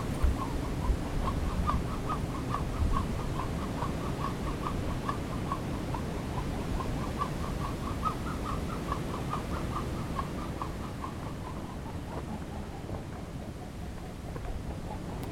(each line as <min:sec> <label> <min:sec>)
0:00.0 Wind and rubber bands 0:15.3